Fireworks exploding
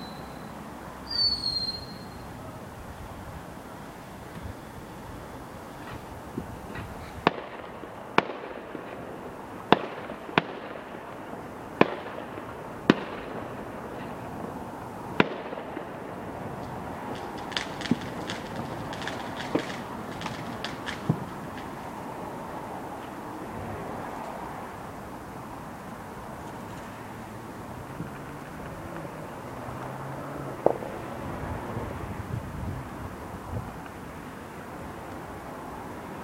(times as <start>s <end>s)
4.2s 24.1s, 30.5s 32.0s